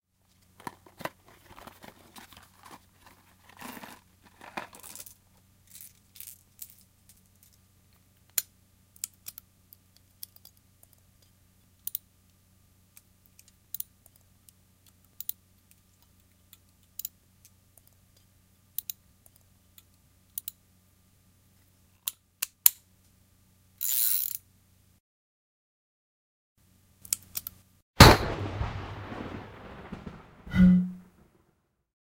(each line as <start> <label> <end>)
28.0 Revolver load spin fire 30.1
28.3 low rumble 31.2
30.5 low tone 31.1